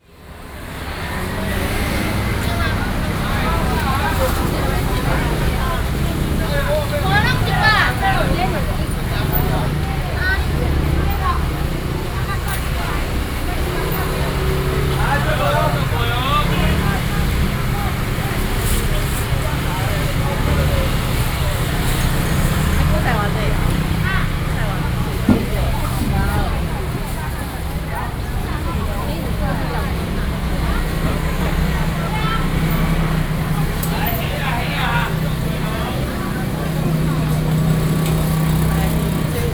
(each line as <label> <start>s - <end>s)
Walking through the traditional market 0.0s - 39.5s